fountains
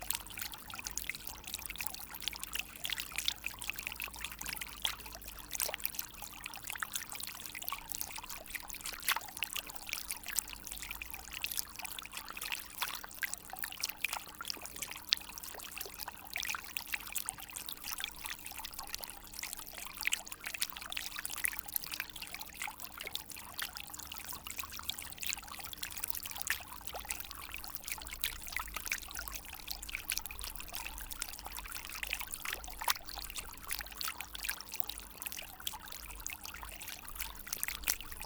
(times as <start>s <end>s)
15.4s 38.2s